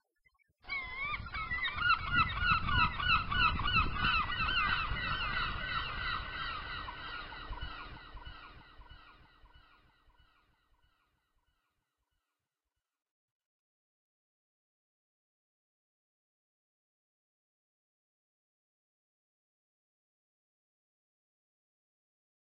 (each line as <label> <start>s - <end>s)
Seagulls 0.6s - 10.4s
ocean 0.7s - 9.4s